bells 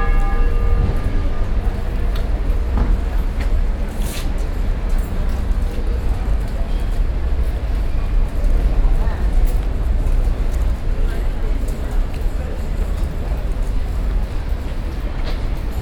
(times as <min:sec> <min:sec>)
0:00.0 0:02.7